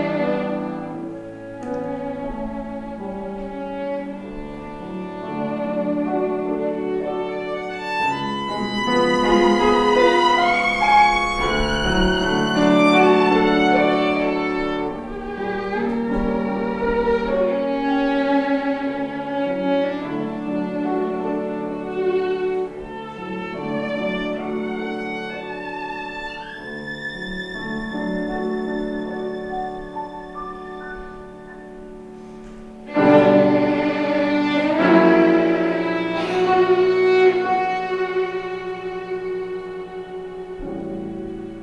classical recital 0:00.0 - 0:41.6

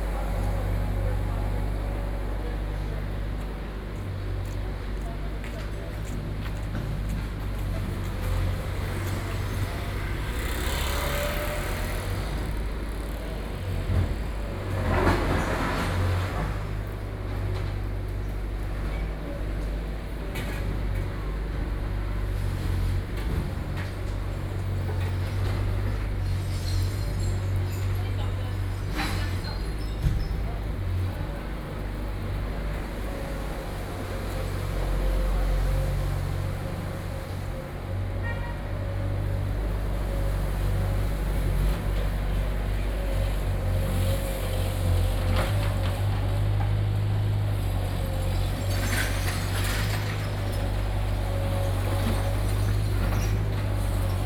Road Construction 0:00.0 - 0:54.2
Traffic Sound 0:00.0 - 0:54.2

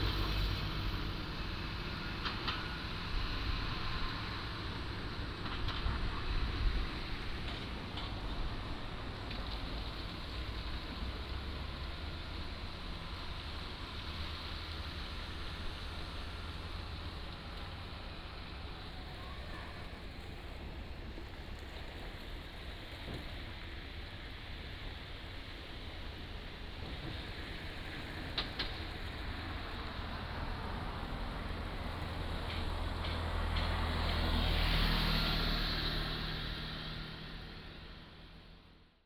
Traffic Sound 0:26.8 - 0:39.0

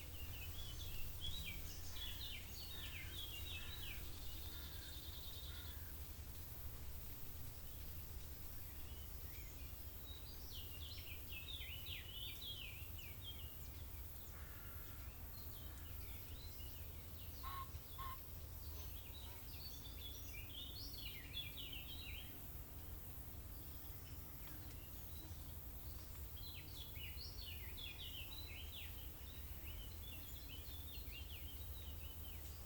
Wind 0:00.0 - 0:32.6
crows 0:14.4 - 0:15.0

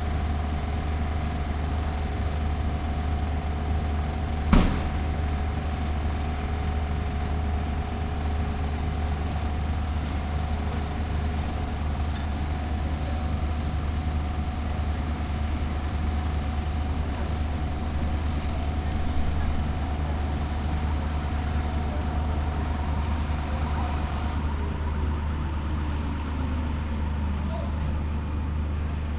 drills 0:23.0 - 0:24.5

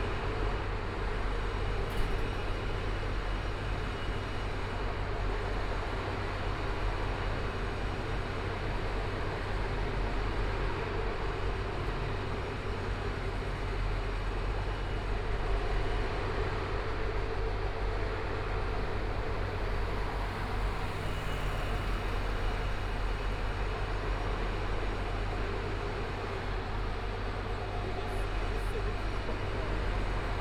Construction site sounds 0:00.0 - 0:30.4
Pedestrian 0:00.1 - 0:30.4
Traffic Sound 0:18.5 - 0:30.4

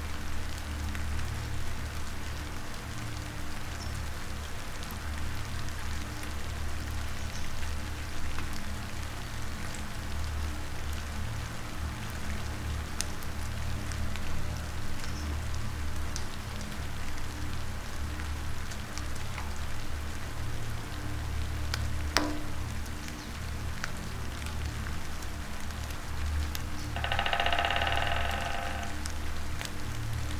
rain drops 0:00.0 - 0:30.3
black woodpecker in the distance 0:27.0 - 0:29.0
usual drone 0:27.0 - 0:29.2

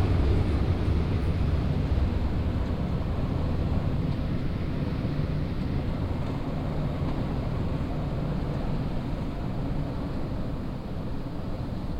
trams and different types of trains passing by in different speeds 0:00.0 - 0:11.9

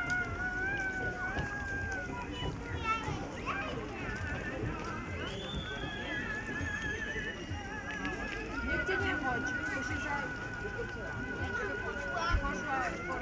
people 0:00.0 - 0:13.2

